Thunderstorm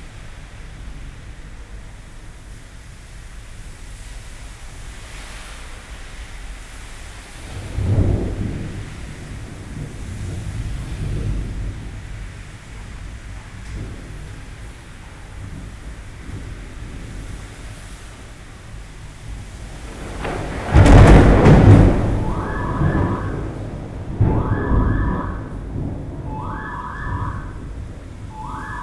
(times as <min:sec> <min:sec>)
0:07.1 0:28.8